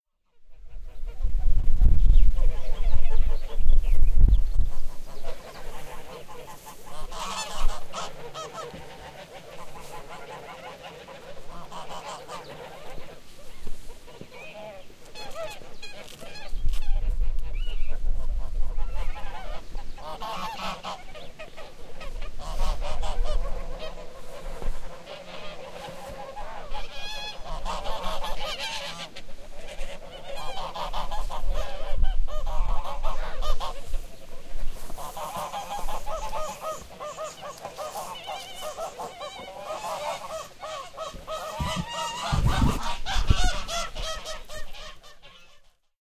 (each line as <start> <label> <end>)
0.2 flock of geese who are honking continuously 3.7
4.5 flock of geese who are honking continuously 46.0